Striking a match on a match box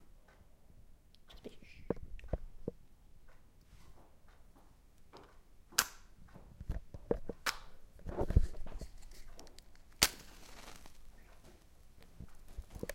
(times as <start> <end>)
8.9 11.1